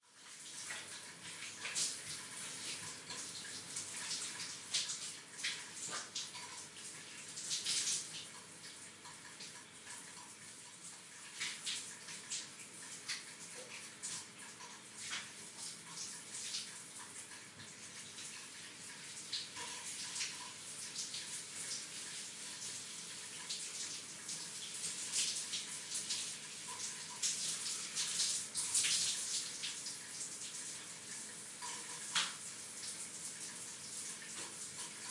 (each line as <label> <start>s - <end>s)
Shower 0.0s - 35.1s
Rain 15.1s - 35.1s